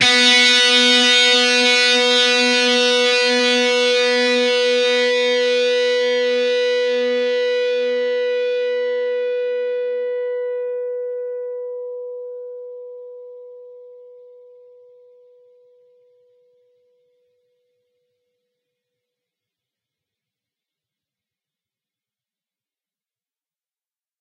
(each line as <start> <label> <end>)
0.0 distorted guitar 12.5